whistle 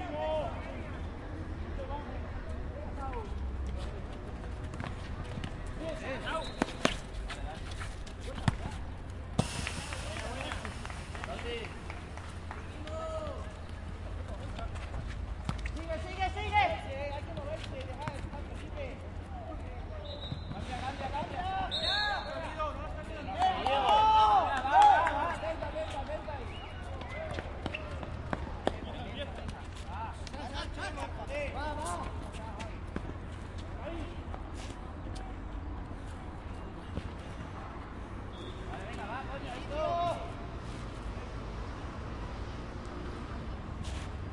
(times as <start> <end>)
20.0 20.6, 21.7 22.4, 38.3 38.7